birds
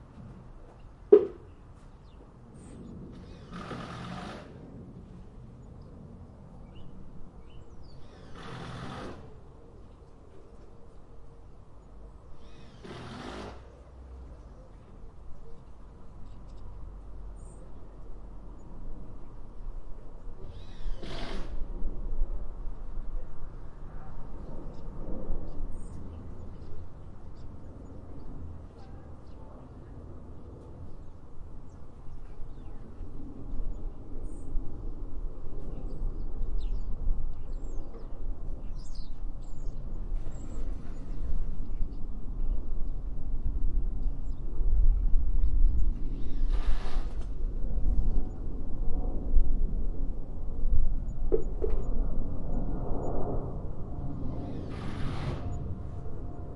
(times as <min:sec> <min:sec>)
0:00.1 0:04.6, 0:05.6 0:19.4